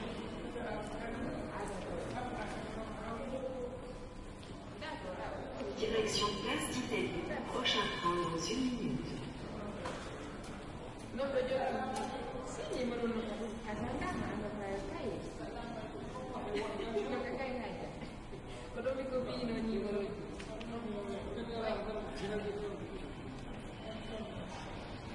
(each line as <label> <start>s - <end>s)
People talking 4.8s - 10.0s